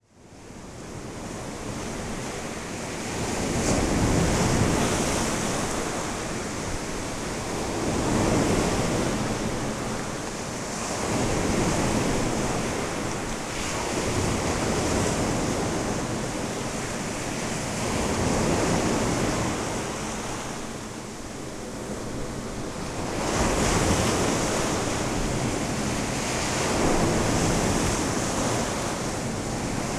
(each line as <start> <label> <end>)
0.8 Strong waves 29.9